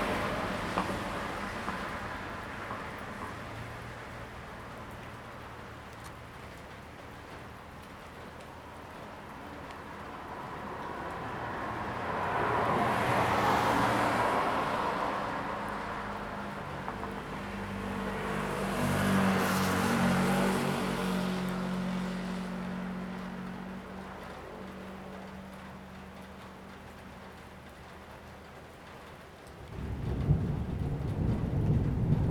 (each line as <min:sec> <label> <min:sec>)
0:00.0 Traffic 0:32.3
0:00.0 rain 0:32.3
0:29.7 Thunder 0:32.3